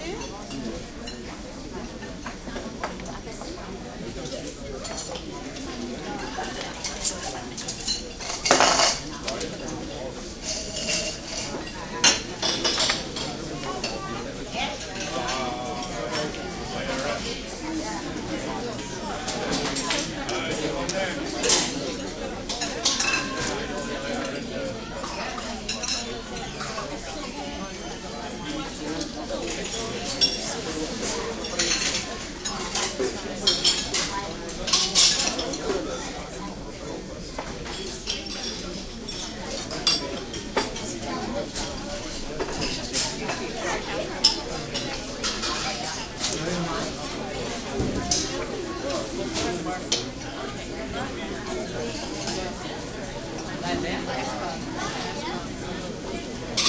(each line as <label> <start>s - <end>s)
crowd int medium murmur 0.0s - 56.6s
dishes cutlery tinkling 6.4s - 9.7s
dishes cutlery tinkling 10.4s - 14.0s
dishes cutlery tinkling 21.4s - 36.1s